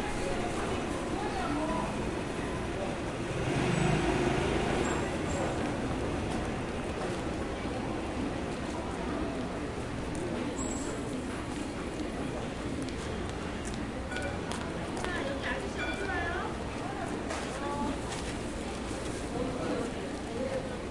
2.0s Motorbike 7.6s

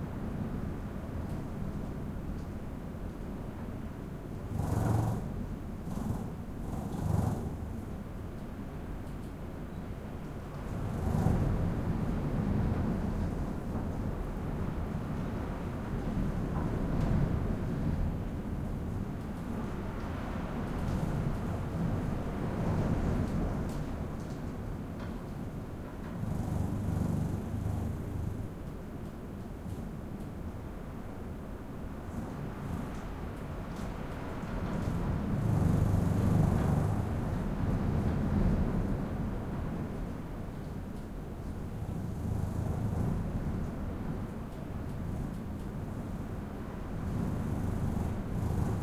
0.0s heavy wind battering hotel room 48.8s

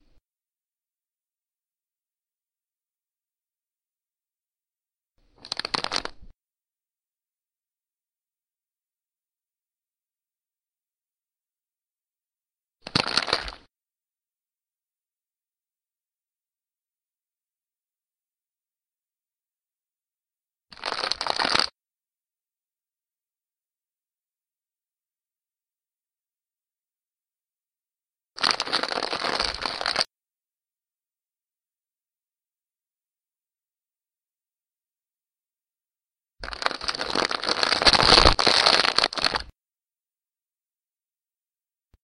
5.4s crackling wrapping paper 6.3s
12.8s crackling wrapping paper 13.6s
20.7s crackling wrapping paper 21.7s
28.4s crackling wrapping paper 30.1s
36.4s crackling wrapping paper 39.5s

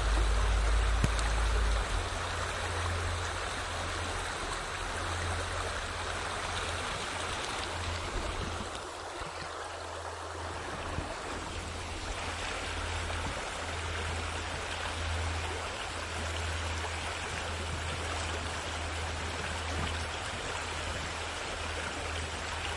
0.0s river 22.7s

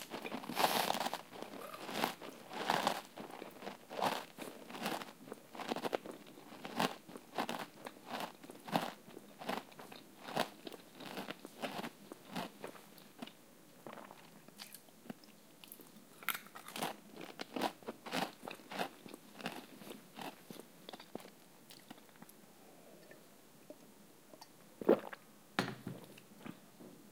0.0s Chips Eating Crunching 14.8s
15.7s Chips Eating Crunching 22.3s

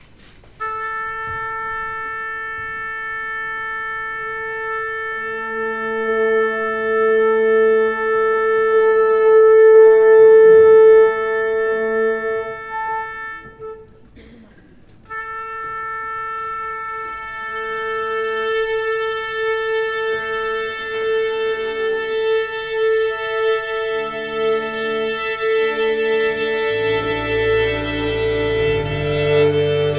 0.6s Symphony orchestra tuning 14.2s
15.1s Symphony orchestra tuning 29.9s

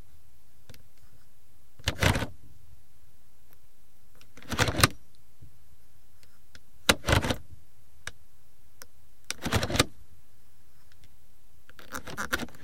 9.3s HVAC position selector knob 9.9s

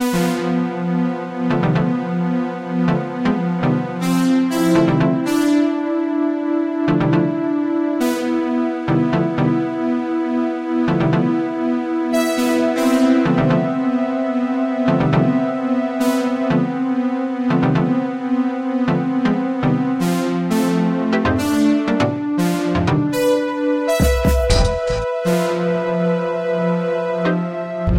24.0s Short piece of music 25.2s

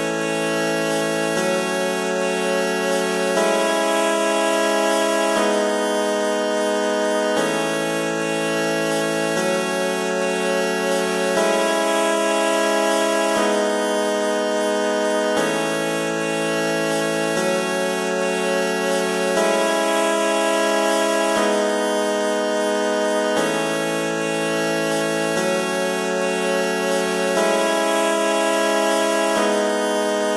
0.0s Kazoo synth 30.3s

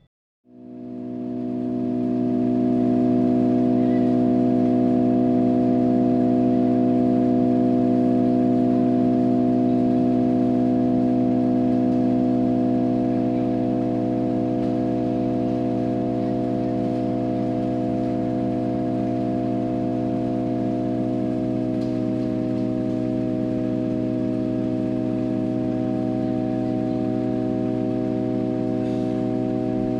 0.0s Various machines, mechanisms, motors and devices 29.9s
0.0s generator 29.9s
0.0s hum 29.9s

